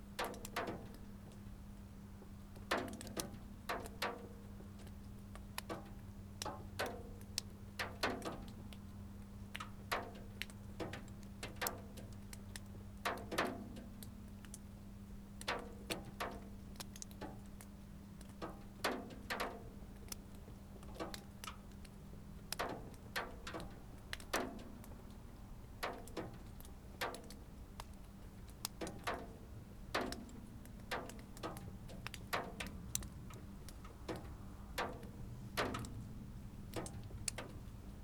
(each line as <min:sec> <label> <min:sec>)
0:00.2 white frost melts and drips down from the roof 0:01.5
0:02.4 white frost melts and drips down from the roof 0:36.0